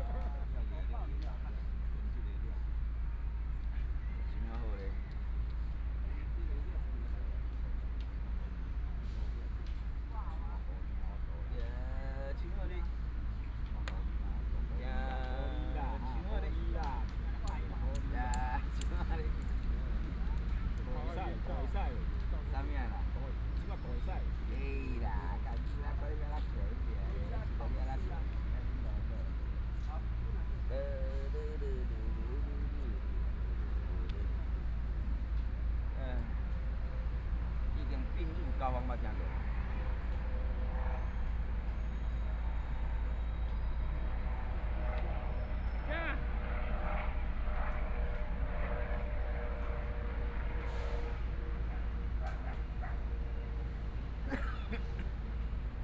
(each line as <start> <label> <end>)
0.0 Traffic Sound 55.8
10.0 Dialogue among the elderly 43.0